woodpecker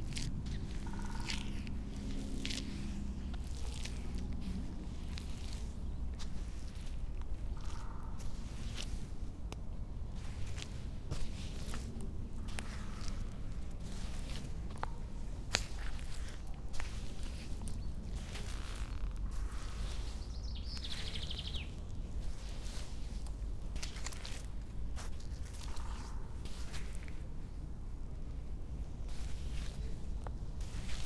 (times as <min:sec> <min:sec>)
0:00.6 0:01.6